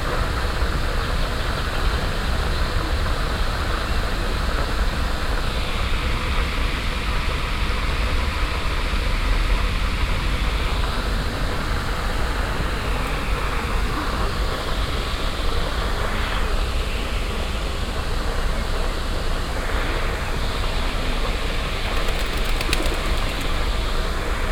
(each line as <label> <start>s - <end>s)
permanent white noise of a water fountain 0.0s - 24.5s
pigeons flying away in small groups 21.6s - 24.2s